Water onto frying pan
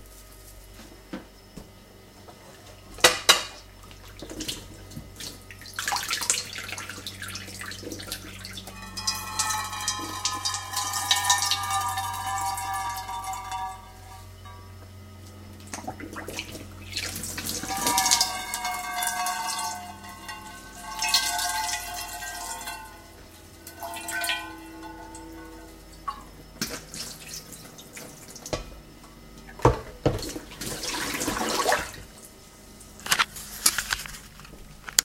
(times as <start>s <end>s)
4.2s 14.6s, 15.6s 28.8s